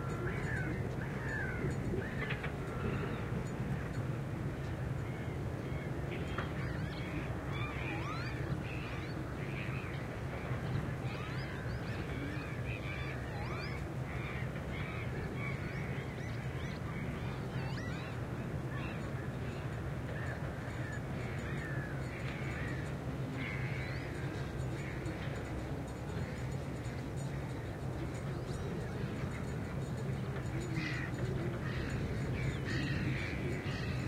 Wind 0.0 - 34.0
birds that nest in this place 0.0 - 34.0

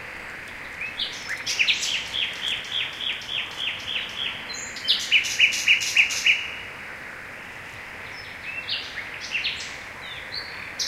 birds 0.4 - 6.6
frogs 0.7 - 10.8

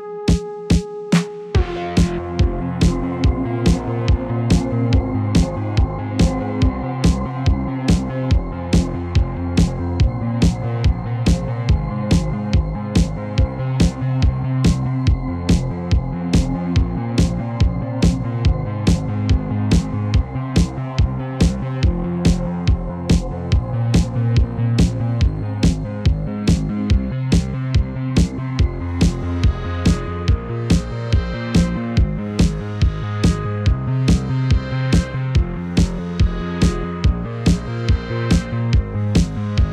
Bassline 0.0 - 39.7
Synth 0.0 - 39.7
Snare 0.3 - 2.2
Kick 1.6 - 39.7
Snare 26.5 - 27.5
Snare 30.7 - 30.9
Snare 33.2 - 33.5
Snare 37.5 - 37.7

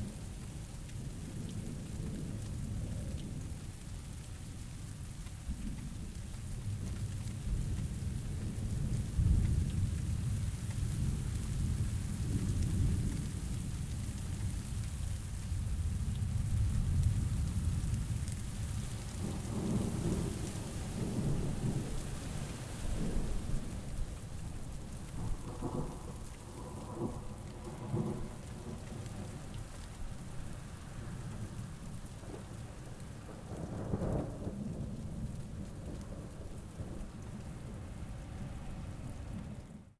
moderate rain 0.0 - 39.9
thunders in distance 15.7 - 29.5
thunders in distance 32.2 - 39.8

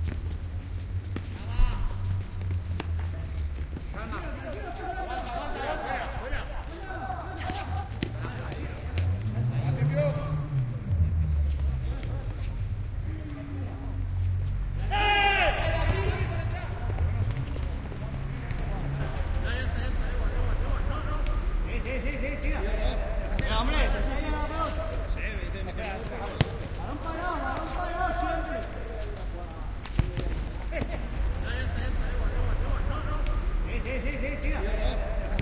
vehicles that happen about the playground 0.0 - 35.4
Players are listened shouting and encouraging between them 1.3 - 35.4
ball 7.4 - 9.2
ball 25.9 - 27.7
ball 29.8 - 31.4

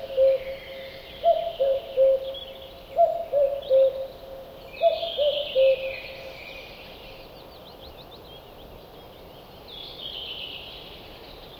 Cuckoo, distant, unusual cuckooing 0.0 - 2.4
small birds in the bg 0.0 - 11.5
Cuckoo, distant, unusual cuckooing 3.0 - 4.1
Cuckoo, distant, unusual cuckooing 4.8 - 5.9

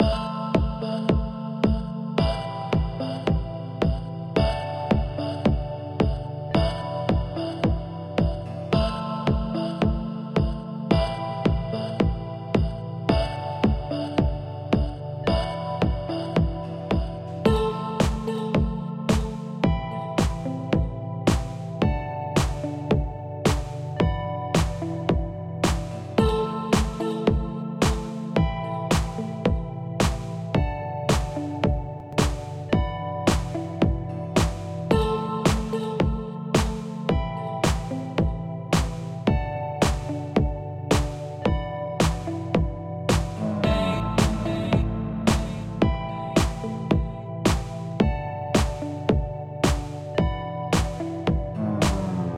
synth 0.0 - 52.3
snare 19.1 - 19.4
snare 20.2 - 20.6
snare 21.3 - 21.6
snare 22.4 - 22.7
snare 23.5 - 23.8
snare 24.6 - 24.9
snare 25.6 - 26.0
snare 26.7 - 27.1
snare 27.8 - 28.2
snare 28.9 - 29.3
snare 30.0 - 30.4
snare 31.1 - 31.5
snare 32.1 - 32.6
snare 33.3 - 33.6
snare 34.4 - 34.8
snare 35.5 - 35.8
snare 36.6 - 36.9
snare 37.6 - 38.0
snare 38.7 - 39.1
snare 39.8 - 40.2
snare 40.9 - 41.3
snare 42.0 - 42.4
snare 43.1 - 43.4
voice 43.4 - 45.6
snare 44.2 - 45.7
snare 46.4 - 46.7
snare 47.5 - 47.8
snare 48.6 - 49.0
snare 49.6 - 50.1
snare 50.7 - 51.1
voice 51.6 - 52.3
snare 51.8 - 52.3

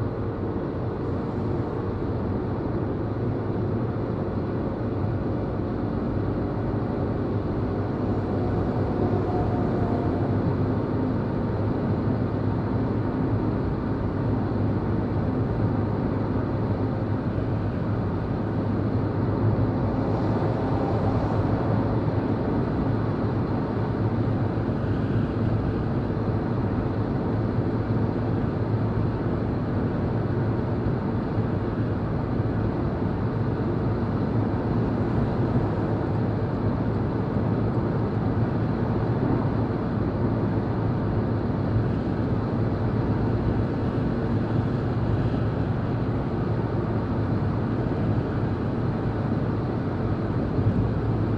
car driving on a German Autobahn 0.0 - 51.3

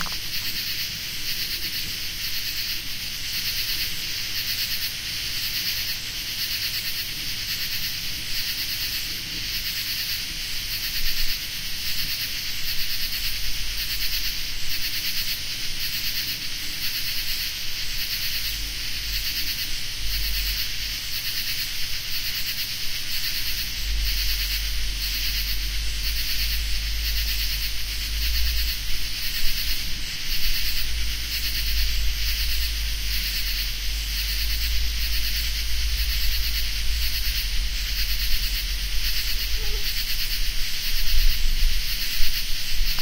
insects 0.0 - 43.0

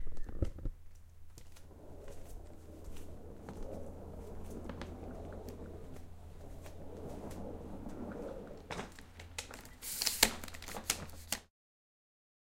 traveling bag being rolled on a wooden floor 0.8 - 11.3

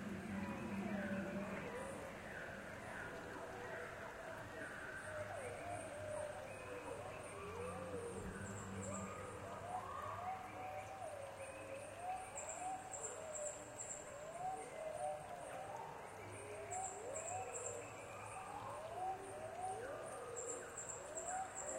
birds 0.0 - 21.7
insects 0.0 - 21.7

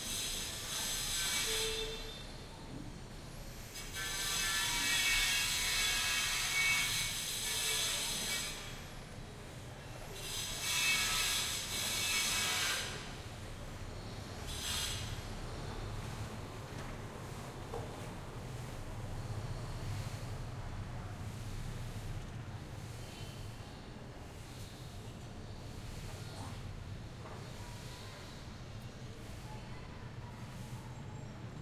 construction work 0.0 - 30.7

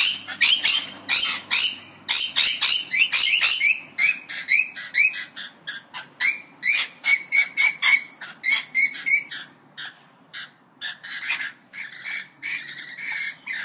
Rainbow Lorikeet Parrots chirping happily 0.0 - 13.6

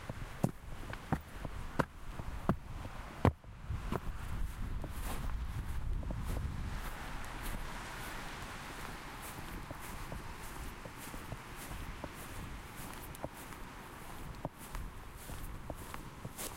walking 0.0 - 16.5
waves 5.1 - 16.5

